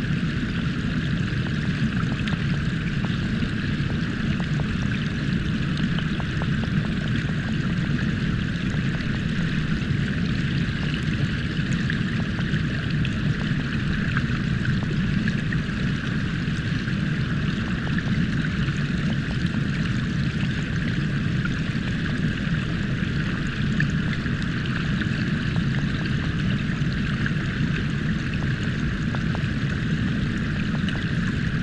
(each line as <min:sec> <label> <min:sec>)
0:00.0 waterfall through hydrophone 0:31.6